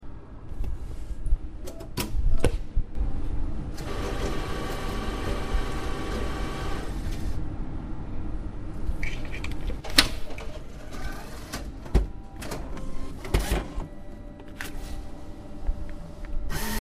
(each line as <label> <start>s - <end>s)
cash machine 3.8s - 7.4s
cash machine 10.3s - 15.1s